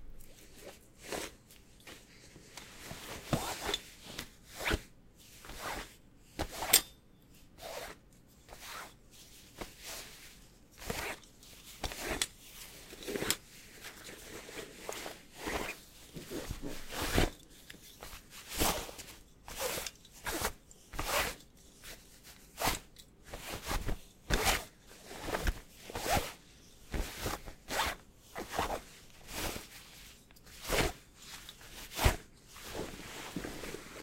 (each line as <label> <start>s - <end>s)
fabric rustling and sliding 0.3s - 6.8s
fabric rustling and sliding 7.6s - 34.0s